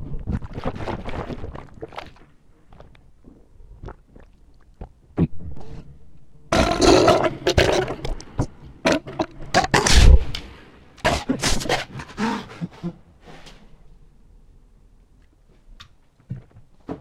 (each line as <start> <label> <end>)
6.5 Monster belches 8.2